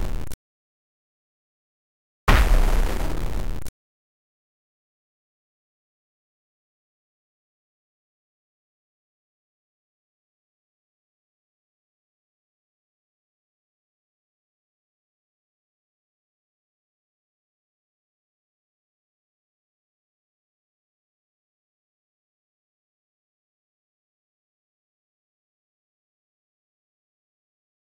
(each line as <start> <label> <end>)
2.3 heavy hit grunge 3.7
2.3 explosion 3.7
2.3 shot 3.7